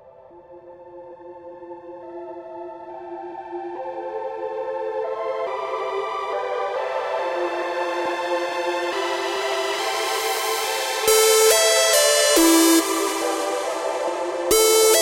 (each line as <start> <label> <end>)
4.2 bass 15.0